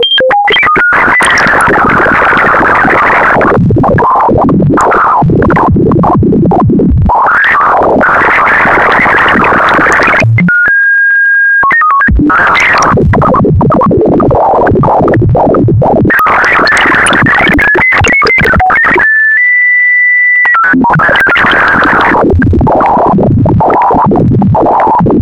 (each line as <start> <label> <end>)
0.0 hum 19.1
16.1 Broken bleeps 19.1
20.4 hum 25.2